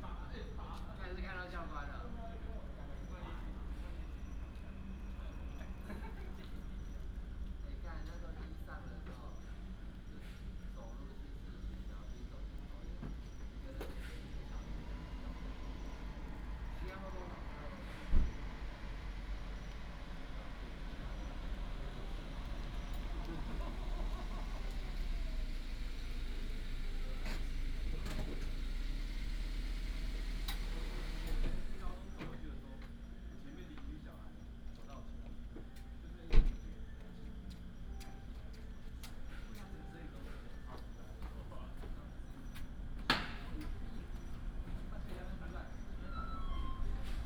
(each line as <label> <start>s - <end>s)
traffic sound 12.2s - 35.4s